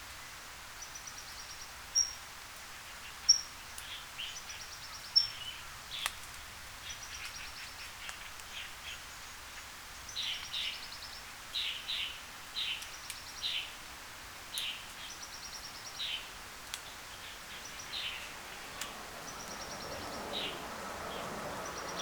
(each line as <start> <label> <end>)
0.7 great number of kinds of birds 22.0